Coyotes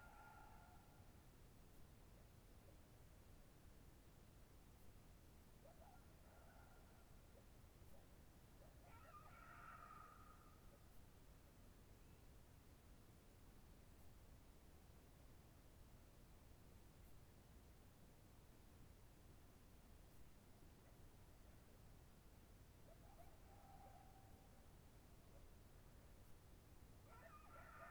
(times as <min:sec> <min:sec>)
0:00.0 0:01.1, 0:05.5 0:11.2, 0:22.6 0:27.9